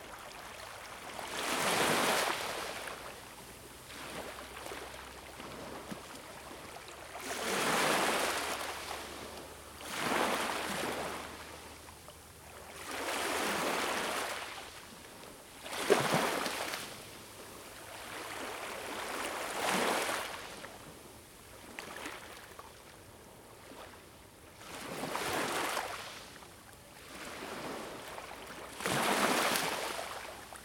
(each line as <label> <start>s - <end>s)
sea 0.0s - 30.6s